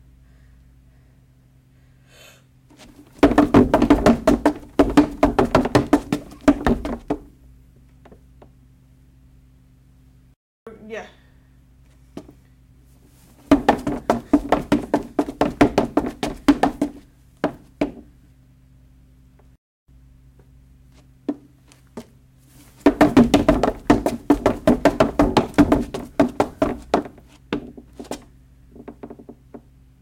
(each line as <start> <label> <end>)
2.7 Running Footsteps on Wood Stairs 7.3
13.4 Running Footsteps on Wood Stairs 18.0
22.6 Running Footsteps on Wood Stairs 29.6